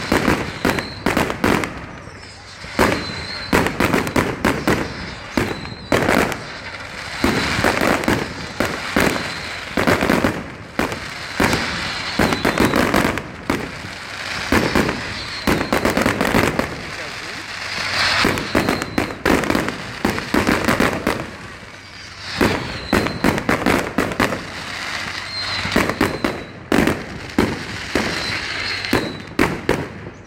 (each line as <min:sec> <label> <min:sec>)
0:00.0 firecrackers 0:30.2
0:00.0 fireworks 0:30.2
0:00.7 conversations in the crowd 0:09.2
0:12.2 conversations in the crowd 0:23.3
0:25.0 screams of children 0:26.5